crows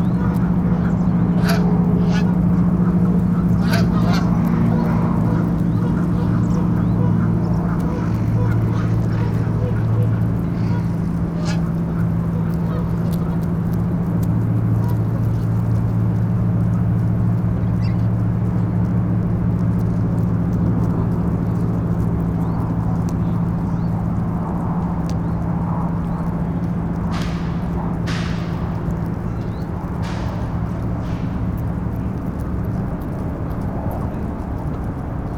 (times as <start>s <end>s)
0.0s 16.9s, 27.1s 31.6s